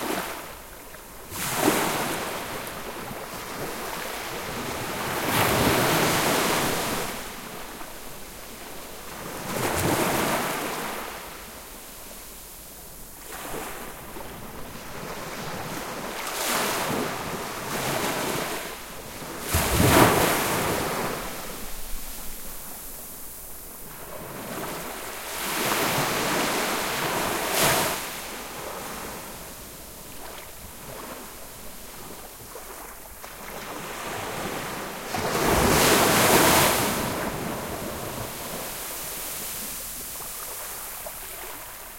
Small waves gently lapping on the sandy shoreline 0:00.0 - 0:41.9

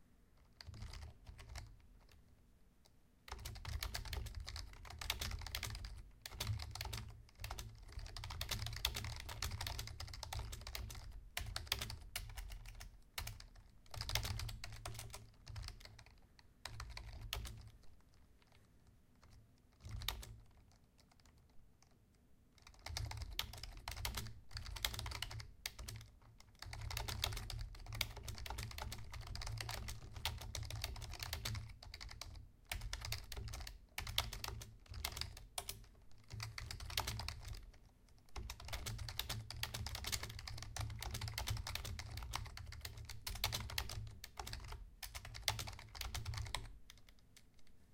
Typing on keyboard 0:00.4 - 0:02.2
Typing on keyboard 0:03.3 - 0:22.0
Typing on keyboard 0:22.6 - 0:47.7

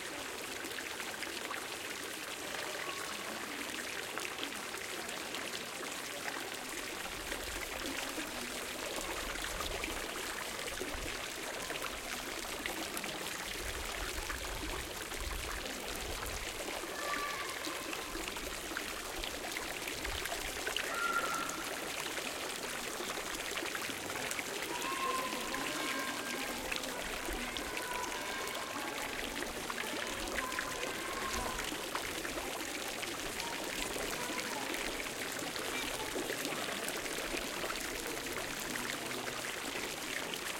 Fountain of water 0:00.0 - 0:40.5

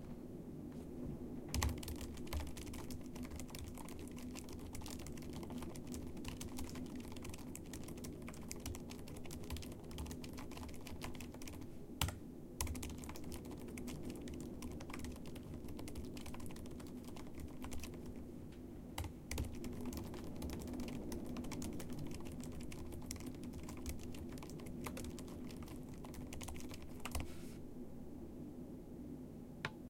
Keyboard Typing 0:01.5 - 0:18.2
Keyboard Typing 0:19.0 - 0:27.3

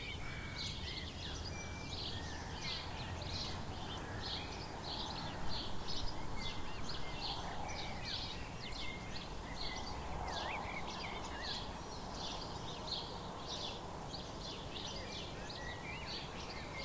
sparrows 0:00.0 - 0:16.8

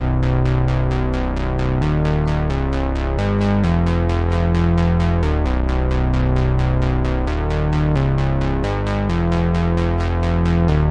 bass 0:00.0 - 0:10.9

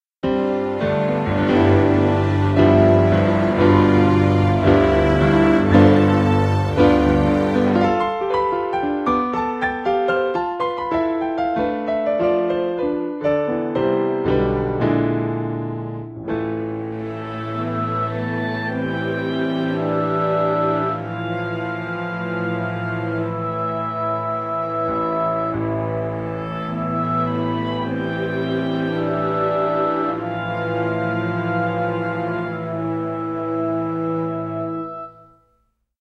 brass 0:00.2 - 0:08.9
piano 0:00.2 - 0:35.8
strings 0:00.2 - 0:09.8
oboe 0:00.3 - 0:08.9
strings 0:15.9 - 0:35.2
brass 0:16.3 - 0:35.6
oboe 0:16.8 - 0:35.4

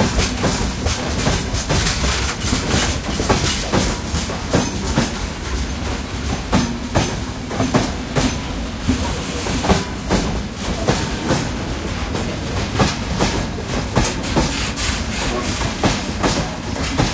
freight train starts moving and leaves the station 0:00.0 - 0:17.1

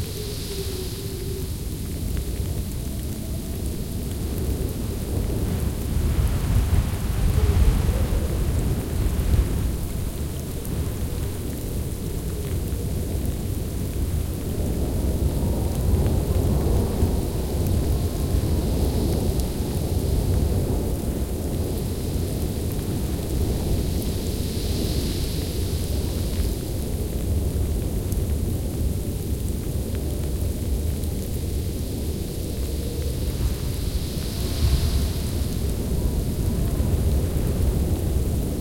howling wind 0:00.0 - 0:38.6
heavy snow 0:33.3 - 0:38.5

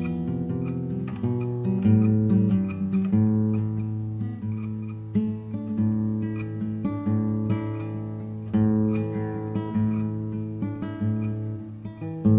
nylon guitar 0:00.0 - 0:12.3

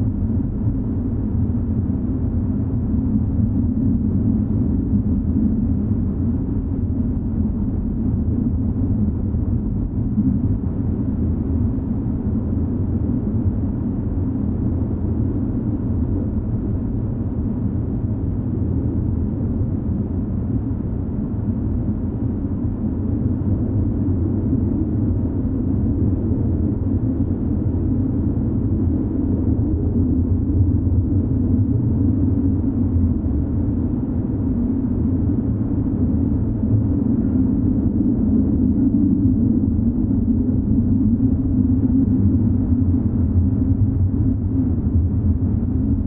low wind 0:00.0 - 0:46.0

